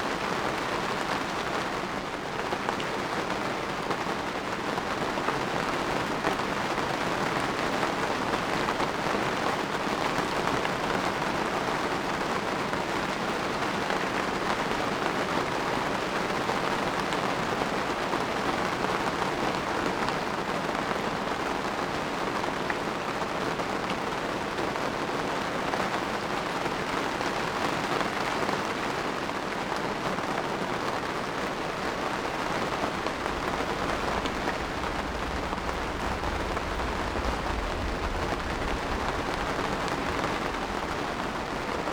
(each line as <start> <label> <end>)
31.9 thunderstorm 41.9